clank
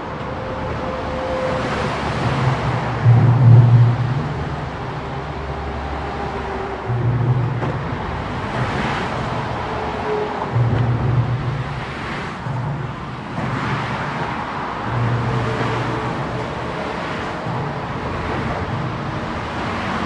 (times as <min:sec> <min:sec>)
0:06.9 0:19.2